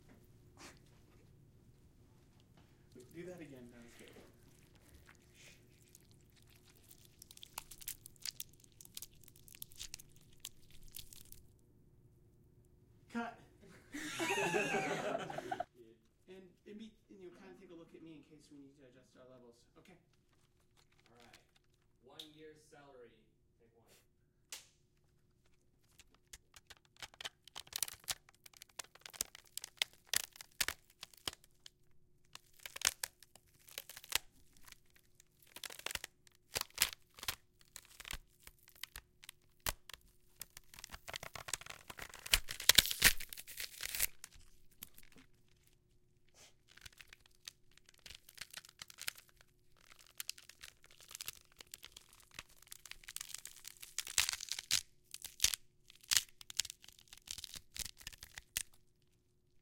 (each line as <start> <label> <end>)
13.1 instructor's voice 13.5